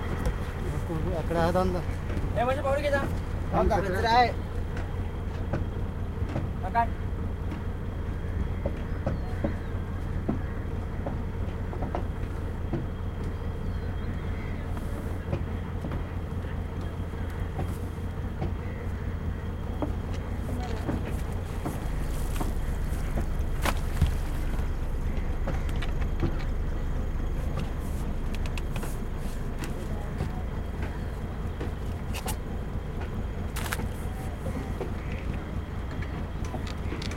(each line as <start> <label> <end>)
0.0 fishing boat idling 37.1
0.4 fishermen talking to each other 7.9
29.0 fishermen talking to each other 36.6